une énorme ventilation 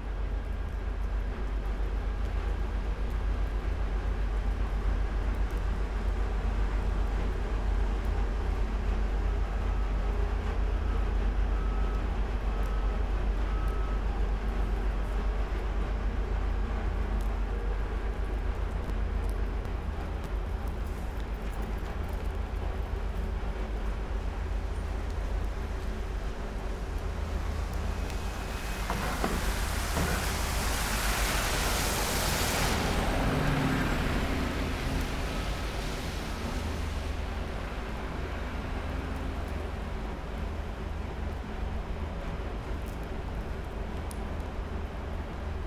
14.3 45.6

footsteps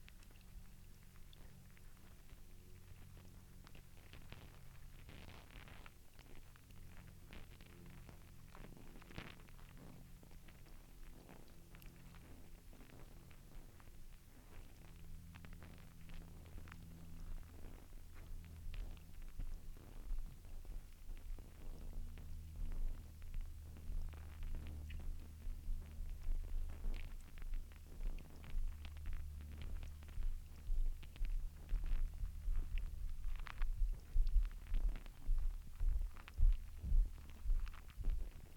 23.9 38.5

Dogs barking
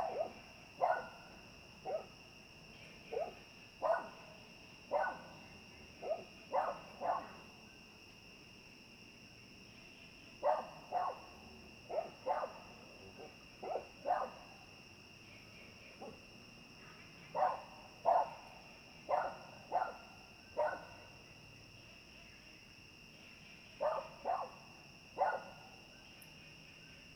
0.0 1.2, 1.9 2.1, 3.1 4.2, 4.9 5.4, 6.0 7.3, 10.4 11.3, 11.9 12.6, 13.2 14.4, 17.4 18.4, 19.1 21.0, 23.8 24.6, 25.2 25.6

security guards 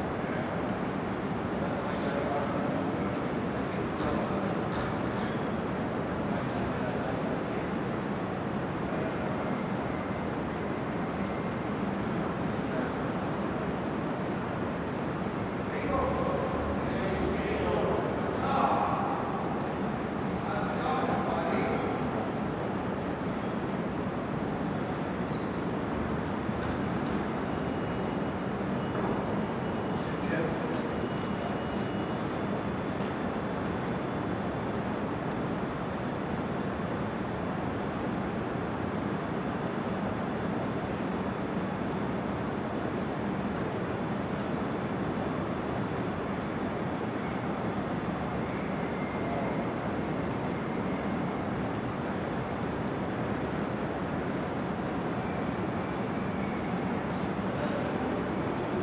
27.6 32.5

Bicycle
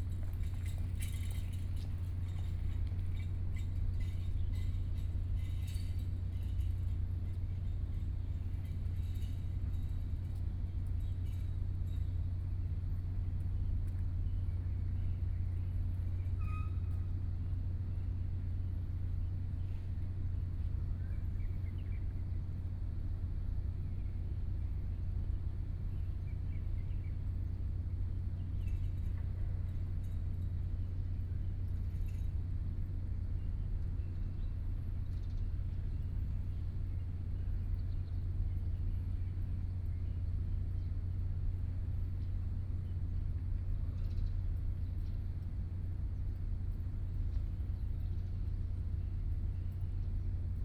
0.0 12.4

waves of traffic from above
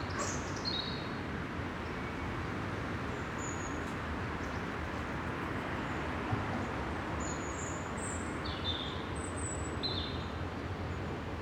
9.0 11.4

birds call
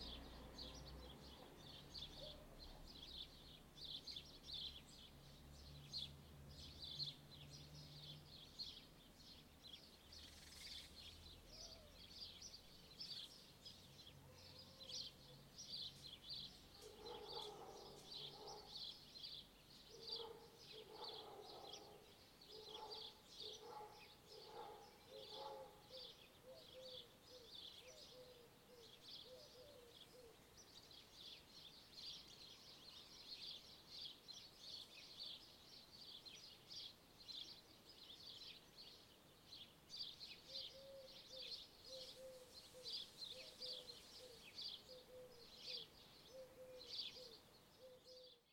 10.2 30.6, 40.0 48.4

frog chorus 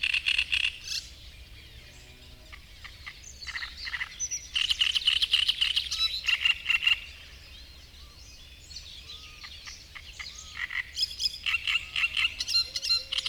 2.5 7.2, 9.4 13.2

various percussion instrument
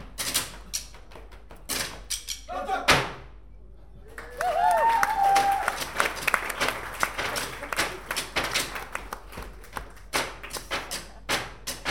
0.3 2.5, 5.3 11.9

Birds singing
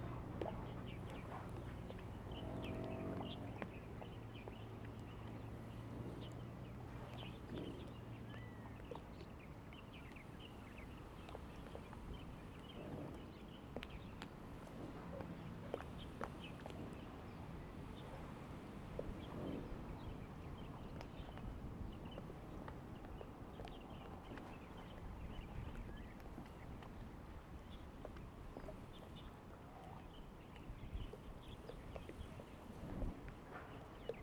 0.0 26.9

